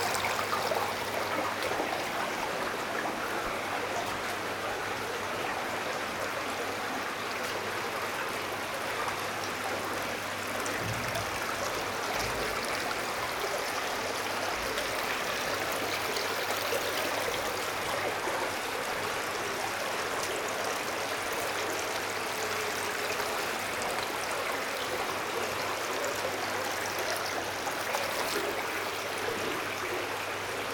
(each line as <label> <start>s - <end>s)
walking in water, mud 26.7s - 29.3s